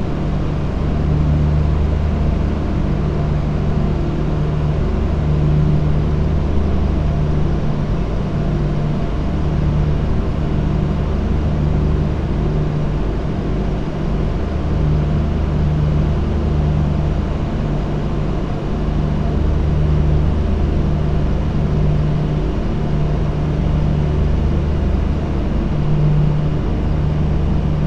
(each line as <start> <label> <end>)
0.0 Cooling Units Drone 27.8